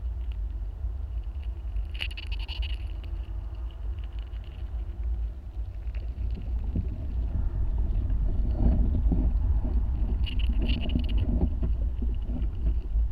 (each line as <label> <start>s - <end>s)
ants walking everywhere 0.0s - 13.1s